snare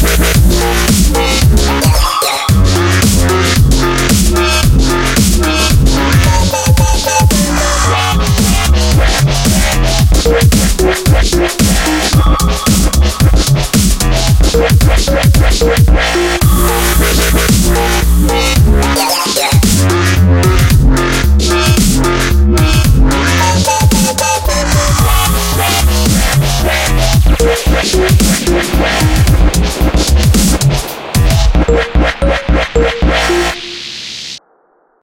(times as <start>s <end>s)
0.0s 14.3s, 17.1s 20.7s, 21.7s 22.8s, 23.6s 27.2s, 28.1s 31.6s